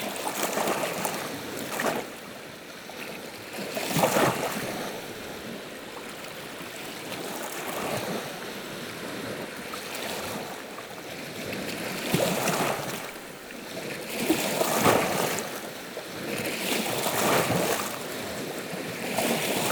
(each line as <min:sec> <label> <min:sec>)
0:00.0 Sevan lake 0:19.7